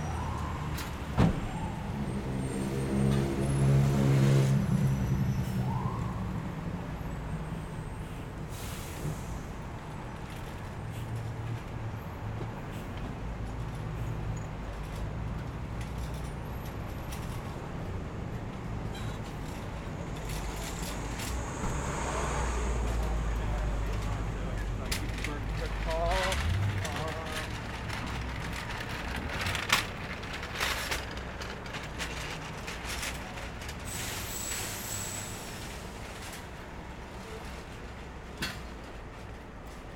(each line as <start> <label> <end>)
0.0 traffic 39.9
8.0 workers unloading materials from a van 39.9